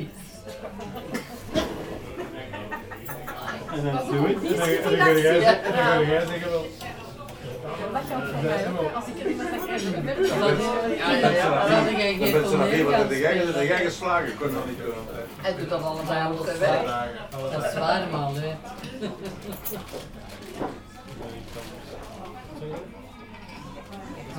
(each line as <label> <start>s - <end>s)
everybody laugh 1.0s - 5.9s